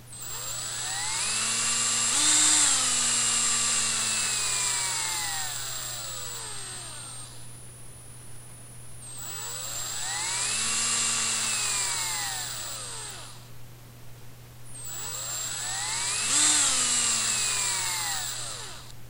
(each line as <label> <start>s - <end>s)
drill 0.1s - 7.6s
drill 9.0s - 13.5s
drill 14.7s - 19.0s